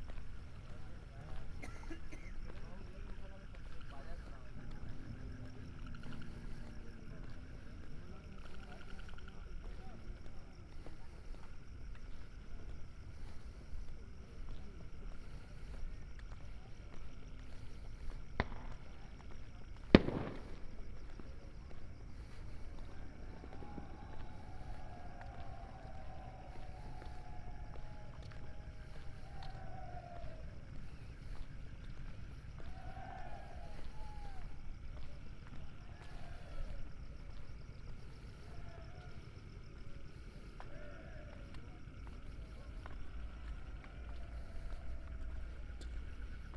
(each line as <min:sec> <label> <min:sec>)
0:00.0 frogs 0:46.5
0:00.0 night walk along the ghats 0:46.5
0:00.0 sadus by their fires 0:46.5
0:17.4 fire works 0:34.7